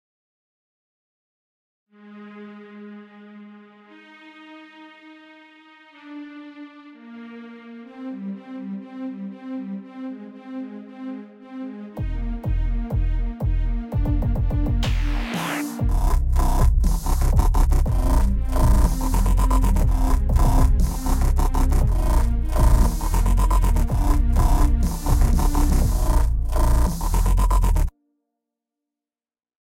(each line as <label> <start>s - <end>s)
violin 2.0s - 15.0s